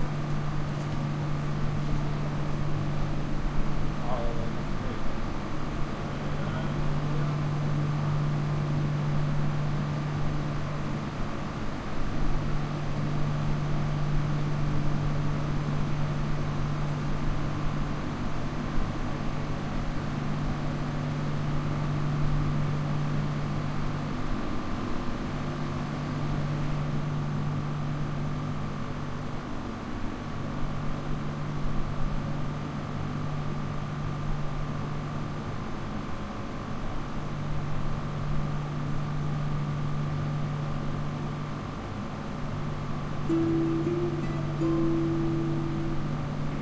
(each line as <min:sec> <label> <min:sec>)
0:43.3 train arrival 0:46.6